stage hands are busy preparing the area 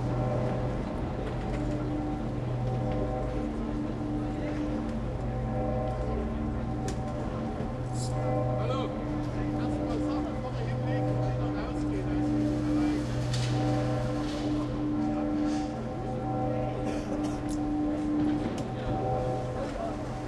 12.4 16.2

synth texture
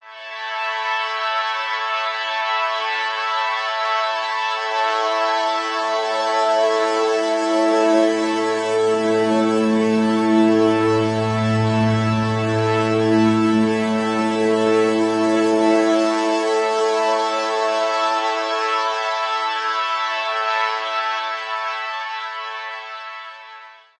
6.0 19.5

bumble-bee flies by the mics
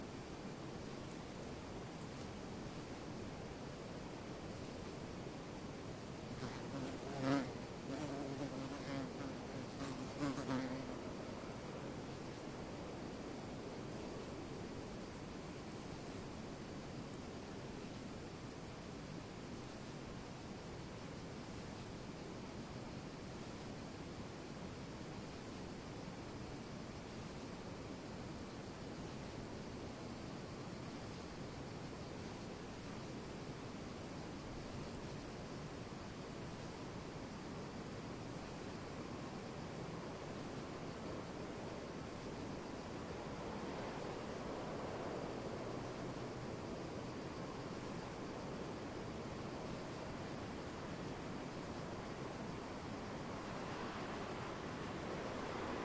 6.3 11.0

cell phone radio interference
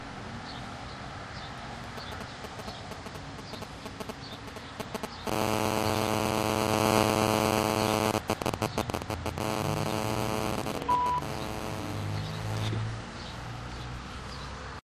1.9 12.8

